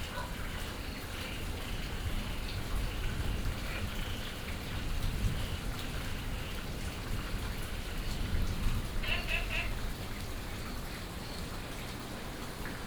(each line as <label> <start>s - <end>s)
Dogs barking 0.0s - 0.5s
Frogs chirping 9.0s - 9.8s